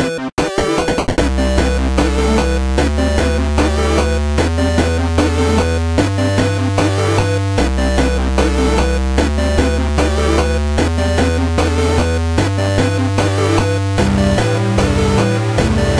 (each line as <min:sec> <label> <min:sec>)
0:00.0 Retro arcade music 0:15.9